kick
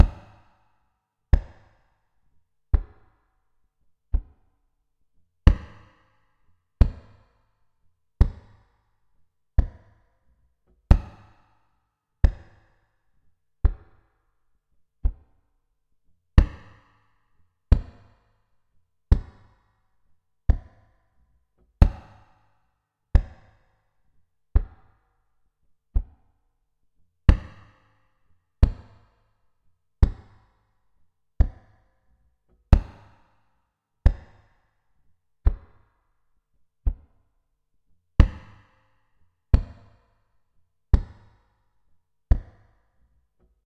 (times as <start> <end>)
4.1 4.5, 10.9 11.4, 16.4 16.8, 21.8 22.3, 23.2 23.5, 27.3 27.8, 32.7 33.2, 39.5 40.0, 42.3 42.6